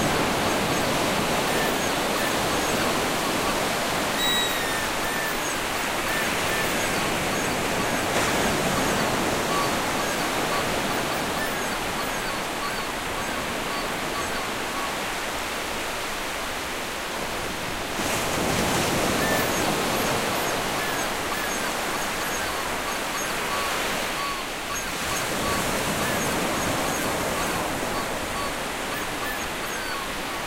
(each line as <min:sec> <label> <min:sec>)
0:00.0 Ocean Waves 0:30.4
0:04.2 squeaky toy sounds 0:06.9